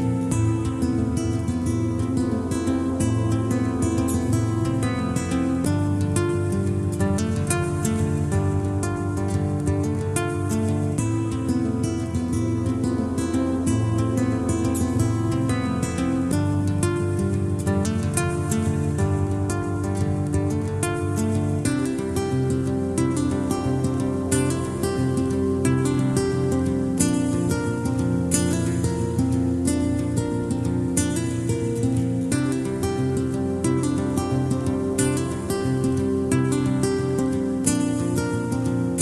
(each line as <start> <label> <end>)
0.0 guitar 39.0